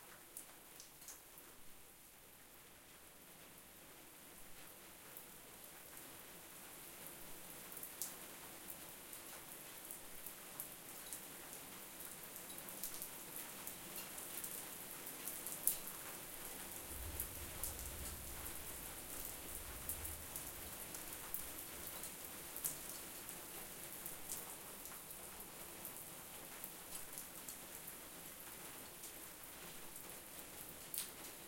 Rain 0.0 - 31.4

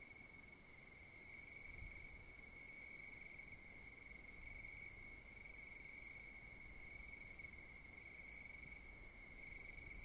distant crickets 0.0 - 10.0

